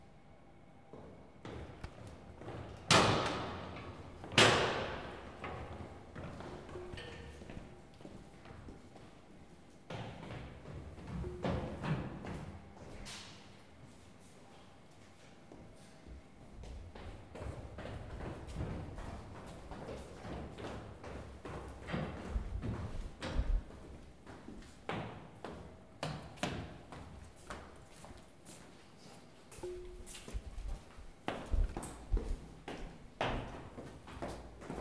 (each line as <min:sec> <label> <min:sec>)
0:00.8 people going up and down the faculty stairs 0:34.8